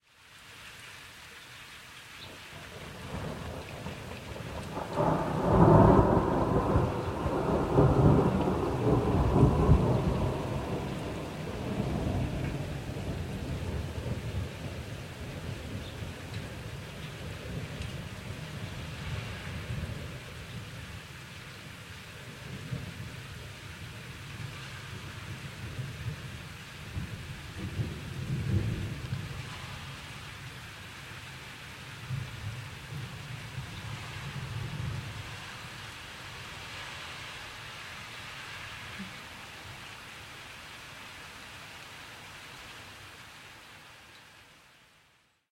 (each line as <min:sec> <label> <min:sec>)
0:03.1 single and long clap of thunder 0:14.4